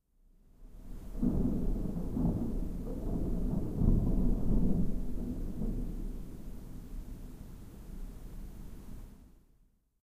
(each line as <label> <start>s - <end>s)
rain 0.5s - 9.4s
thunder 0.7s - 9.0s